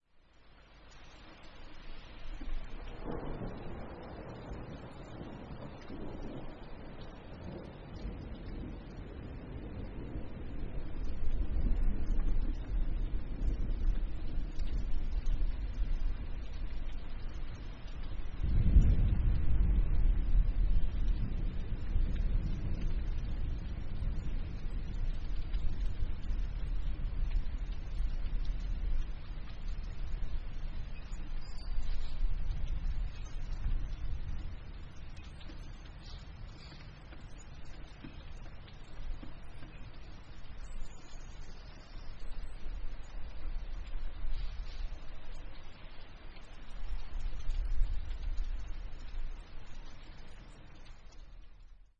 rain 0:00.0 - 0:51.9
medium distant thunder 0:02.2 - 0:50.8
dripping gutter 0:20.9 - 0:41.6

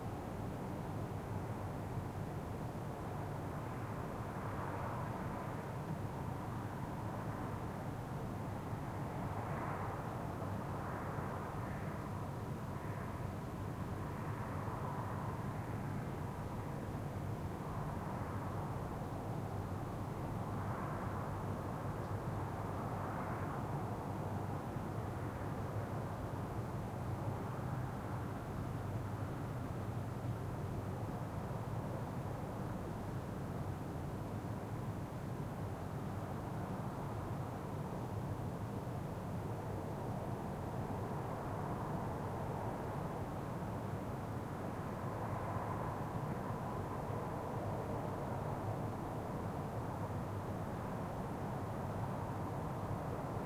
wind 0:00.0 - 0:53.4

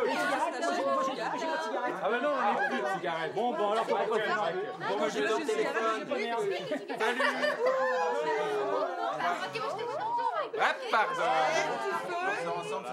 walla 0:00.0 - 0:12.9

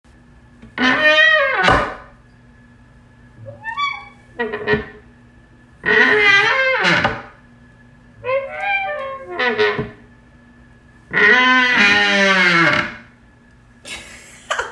very creaky hinge going back and forth 0:00.8 - 0:02.1
very creaky hinge going back and forth 0:03.4 - 0:05.0
very creaky hinge going back and forth 0:05.8 - 0:07.4
very creaky hinge going back and forth 0:08.2 - 0:10.0
very creaky hinge going back and forth 0:11.1 - 0:13.1

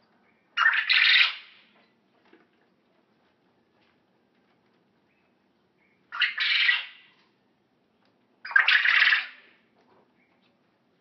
little birds background 0:00.0 - 0:11.0
Quail Sound 0:00.6 - 0:01.5
Quail Sound 0:06.1 - 0:07.1
Quail Sound 0:08.4 - 0:09.5

